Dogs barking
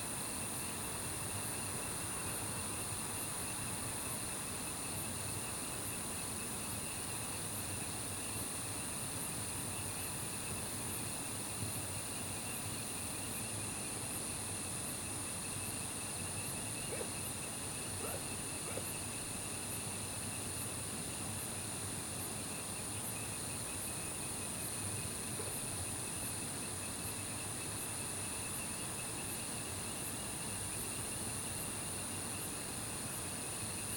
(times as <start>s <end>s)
18.0s 18.9s